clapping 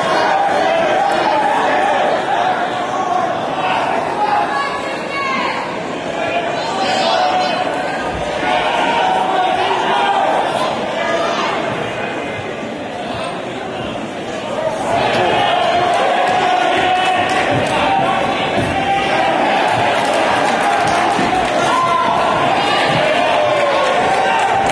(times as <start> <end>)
20.0 21.7